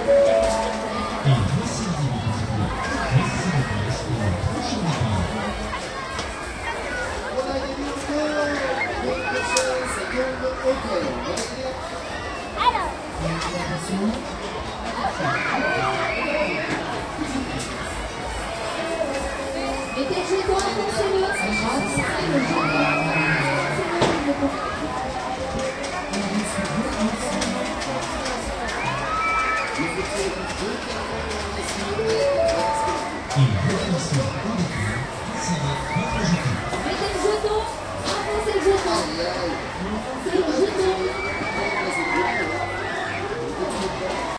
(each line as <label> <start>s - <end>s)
people screaming in the background 6.1s - 12.9s
people screaming in the background 15.0s - 27.7s
people screaming in the background 28.6s - 31.2s
people screaming in the background 32.0s - 39.7s
people screaming in the background 40.4s - 44.3s